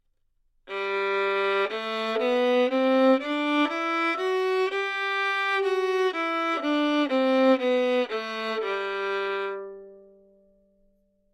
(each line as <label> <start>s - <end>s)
Violin 0.7s - 10.2s